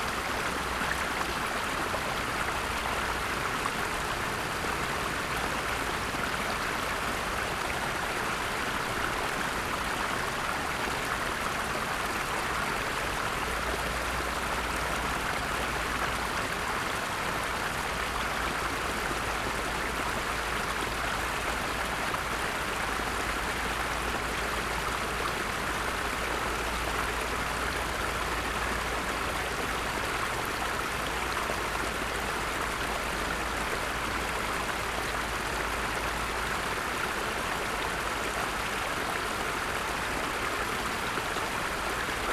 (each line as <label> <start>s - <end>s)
little artificial creek 0.0s - 42.3s